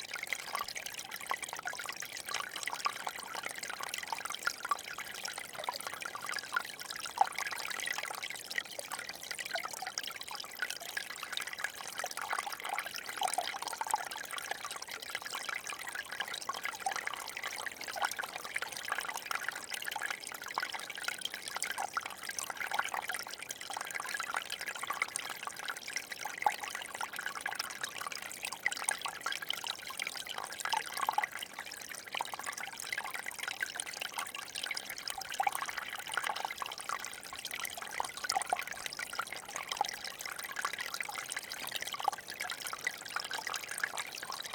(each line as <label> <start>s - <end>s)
small river 0.0s - 44.5s